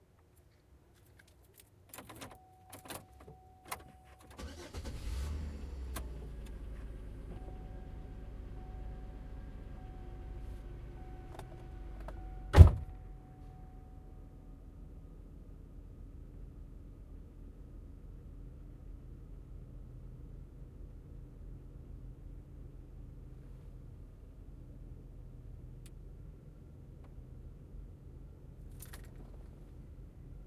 4.4s impala engine start idle 6.7s

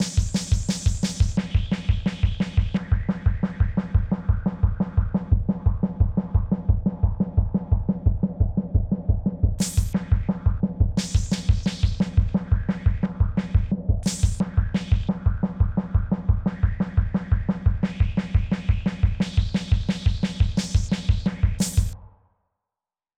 0.0s Snare Drum 5.3s
0.0s Bass Drum 22.0s
9.6s Snare Drum 10.4s
11.0s Snare Drum 22.0s

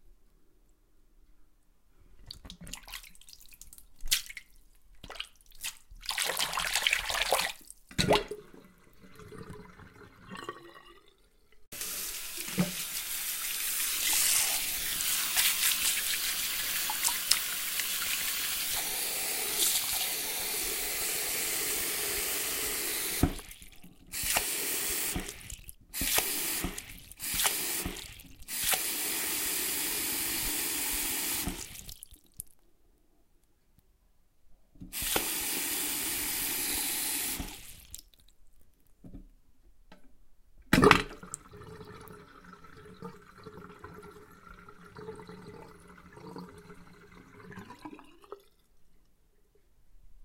2.3s sink water washing splishing splashing 10.6s
2.3s dripping 11.6s
2.3s drain 32.5s
11.7s sink water washing splishing splashing 32.4s
23.1s dripping 28.9s
30.9s dripping 32.6s
34.9s sink water washing splishing splashing 38.2s
37.3s dripping 38.3s
40.8s drain 48.8s

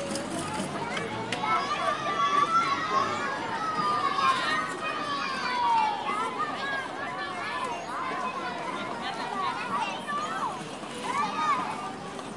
0.0s Parents 12.3s
0.0s children 12.3s

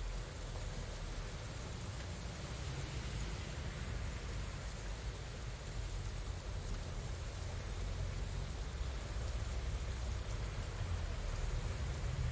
0.0s rain 12.3s
0.0s wind 12.3s

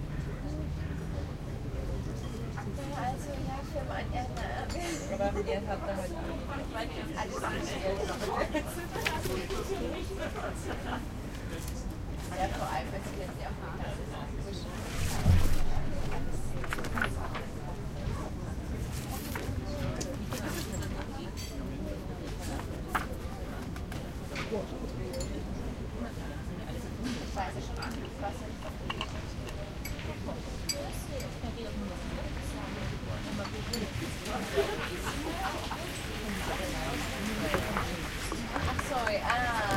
0.0s people 39.7s

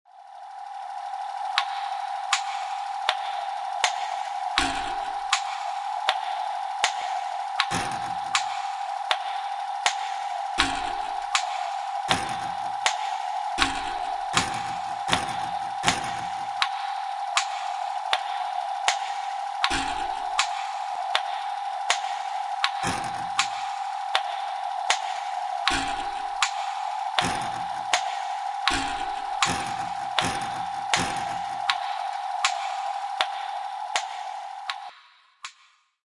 0.6s Funny machine sounds 34.9s

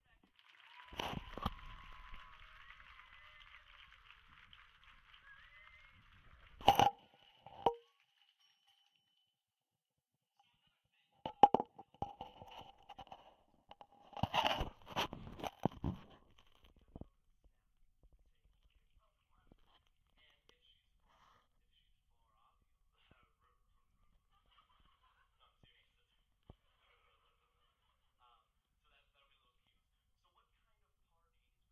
0.0s people cheering and clapping 6.8s

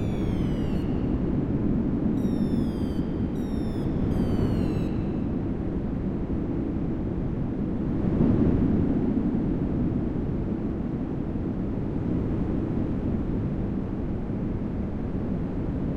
0.0s Far Ocean 5.5s
0.0s wind 15.9s

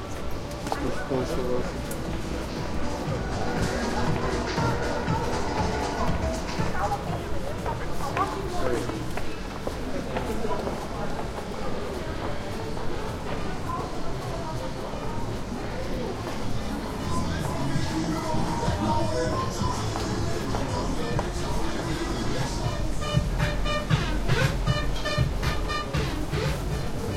0.0s music 9.1s
0.0s walking 27.1s
0.6s people talking 27.1s
16.1s music 27.1s

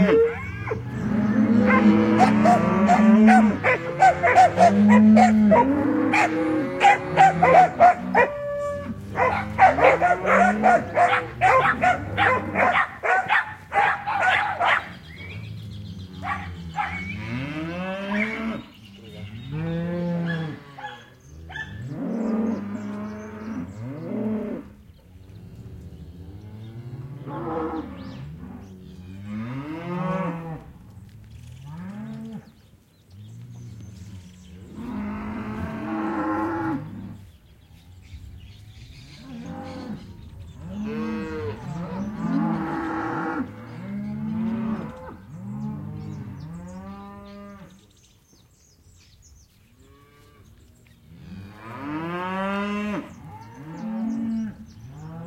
0.0s Herd of cows 55.2s
1.5s dogs barking 15.0s
16.2s dogs barking 17.2s
20.2s dogs barking 21.9s

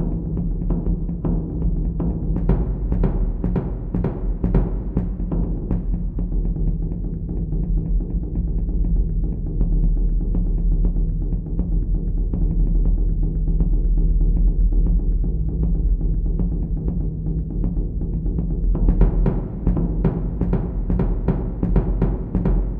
0.0s Taiko Drum Rhythm 22.7s

